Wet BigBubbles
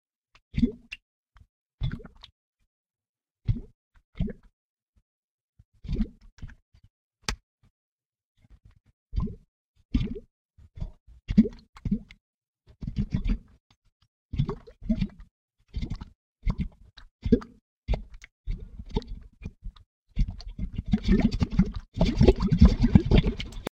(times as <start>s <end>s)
14.4s 23.7s